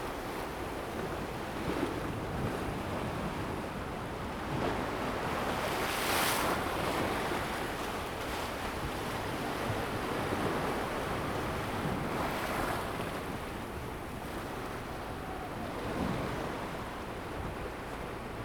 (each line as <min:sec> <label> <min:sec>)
0:00.0 The sea is slowly rising tide 0:18.4